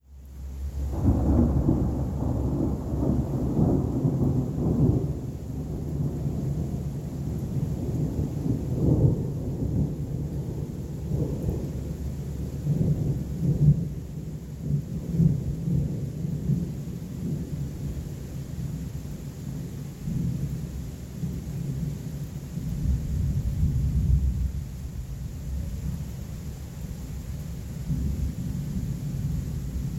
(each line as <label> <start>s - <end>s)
rolling thunderclap 0.8s - 17.6s
rolling thunderclap 22.6s - 26.0s